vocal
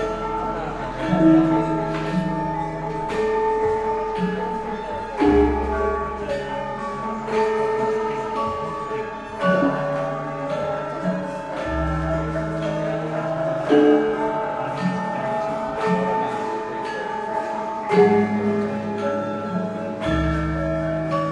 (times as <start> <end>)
8.1 19.8